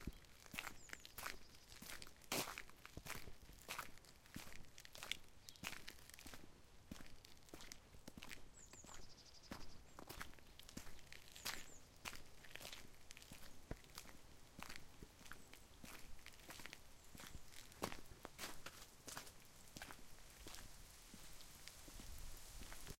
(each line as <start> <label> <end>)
0.0 birds 2.0
0.0 Footsteps in gravel 22.9
8.5 birds 13.7